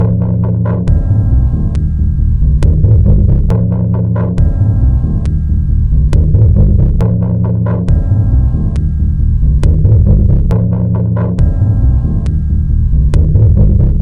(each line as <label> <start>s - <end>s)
Drum 0.0s - 14.0s